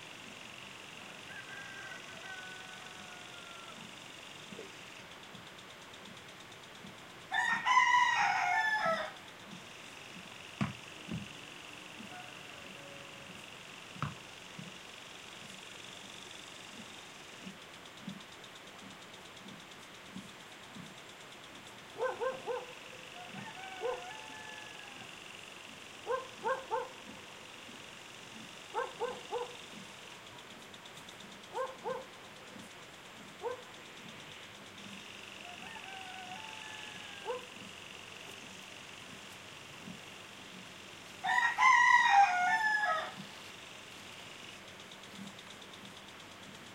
0.0s home lawn sprinkler 46.7s
0.4s hen 4.9s
0.5s Rooster crowings 4.7s
7.3s Rooster crowings 9.6s
10.6s thumpings from a horse 11.3s
10.6s Rooster crowings 16.8s
11.0s hen 13.7s
14.0s thumpings from a horse 14.7s
22.0s dog barkings 24.1s
22.0s Rooster crowings 29.8s
26.0s dog barkings 27.0s
28.7s dog barkings 29.6s
31.5s dog barkings 32.1s
33.4s dog barkings 33.7s
34.6s hen 38.6s
34.8s Rooster crowings 38.4s
37.2s dog barkings 37.5s
41.2s Rooster crowings 43.5s

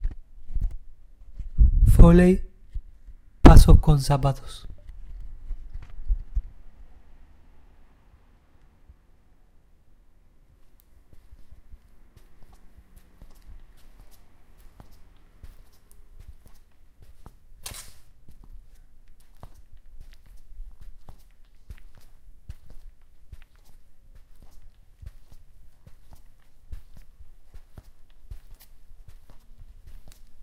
10.4s Men shoes - walking 30.4s

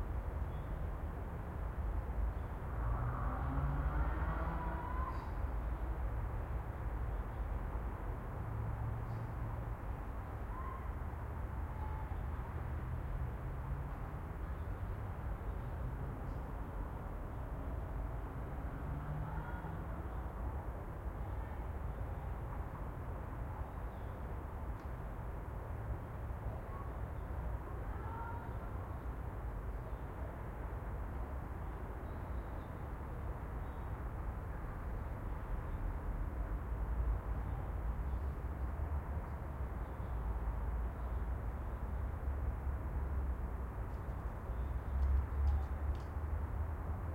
0.0s traffic 47.1s

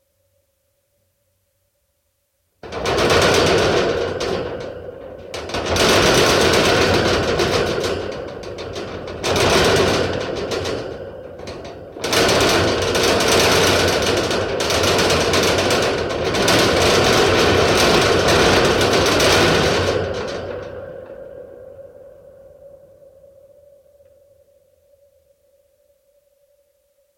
2.6s metal cage shaking 20.9s

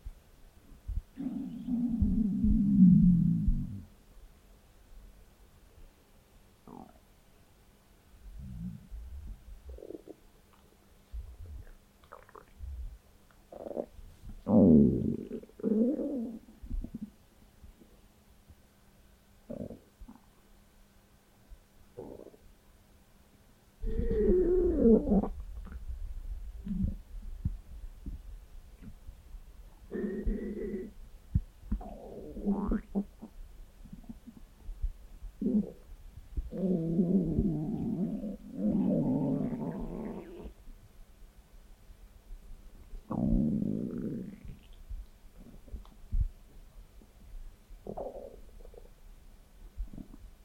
1.1s Stomach Growl 3.9s
6.6s Stomach Growl 7.0s
8.4s Stomach Growl 10.6s
11.2s Stomach Growl 12.9s
13.5s Stomach Growl 17.2s
19.5s Stomach Growl 20.3s
22.0s Stomach Growl 22.4s
23.8s Stomach Growl 25.9s
26.6s Stomach Growl 28.2s
29.9s Stomach Growl 31.0s
31.7s Stomach Growl 34.5s
35.4s Stomach Growl 40.6s
43.0s Stomach Growl 44.8s
47.8s Stomach Growl 49.0s
49.8s Stomach Growl 50.2s

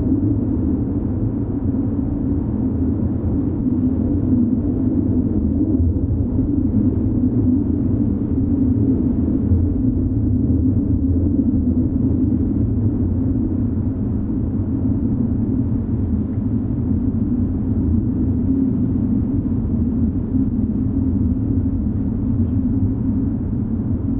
0.0s low wind 24.1s

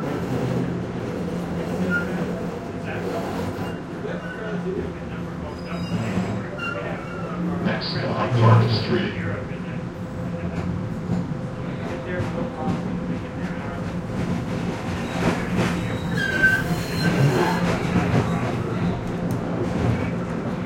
0.0s Riding the Green Line T 20.6s

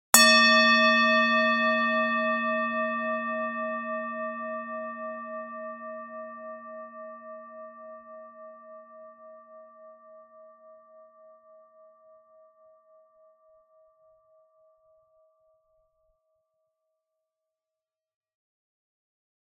0.2s Singing bowl struck hard with mallet 10.0s

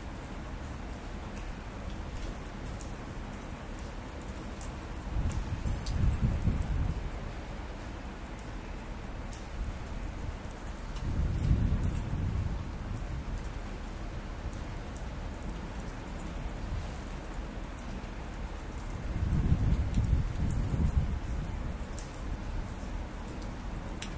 0.0s raindrops 24.1s
0.0s wind 24.1s

